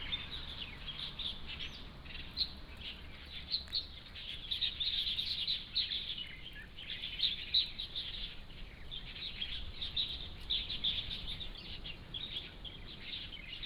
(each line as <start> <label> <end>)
0.0 Birdsong 13.6